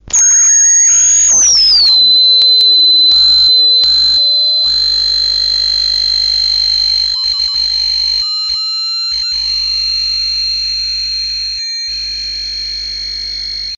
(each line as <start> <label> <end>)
0.0 circuit bending baby radio fm 8.6